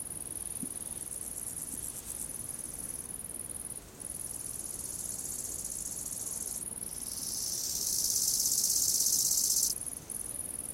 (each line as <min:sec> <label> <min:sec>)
0:04.0 grasshoppers 0:09.8